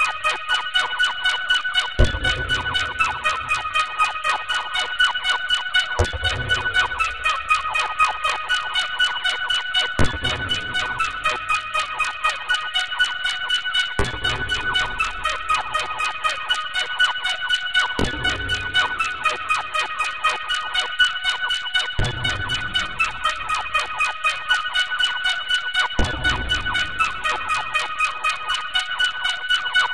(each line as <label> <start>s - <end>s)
rhythmic and random noise in the background 0.0s - 29.9s